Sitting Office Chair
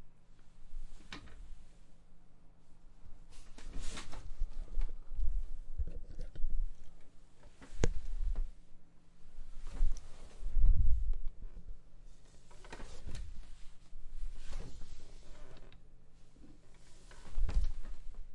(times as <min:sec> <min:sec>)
0:03.3 0:05.4, 0:09.5 0:11.4, 0:12.1 0:18.2